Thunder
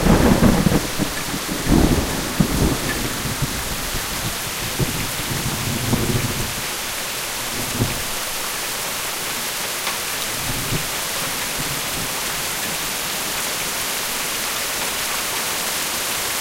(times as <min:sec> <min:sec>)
0:00.0 0:06.6